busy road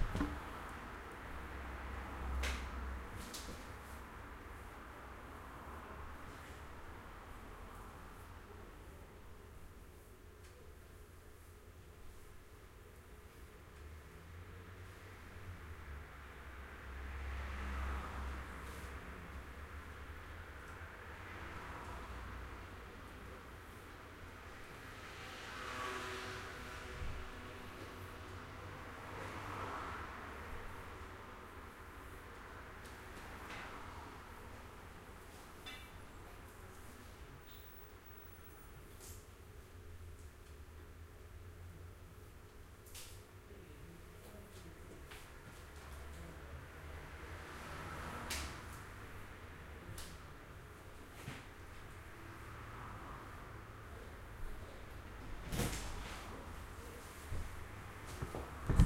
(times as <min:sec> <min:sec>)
0:14.2 0:39.6, 0:44.6 0:58.8